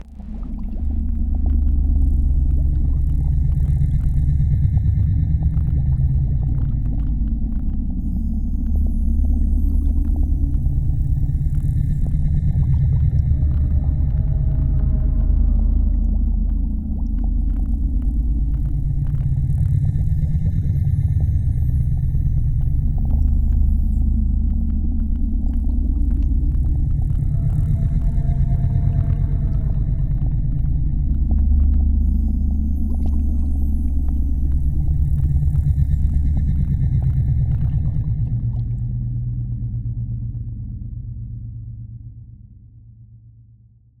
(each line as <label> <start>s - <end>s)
Underwater ambience 0.0s - 40.8s
ocean 0.0s - 41.4s